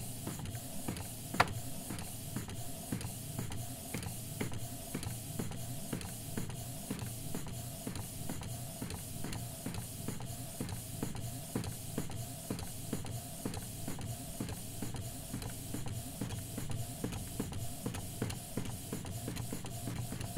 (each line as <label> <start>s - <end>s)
printer printing out a photo 0.0s - 20.3s